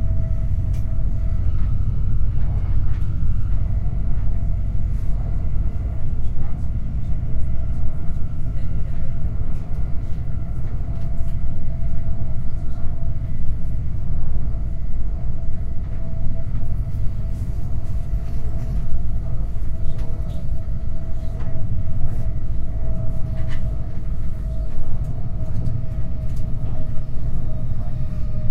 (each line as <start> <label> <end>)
0.0 Train pulls up from a station 28.5
5.2 people speak 14.3
18.2 people speak 22.8
23.4 people speak 28.5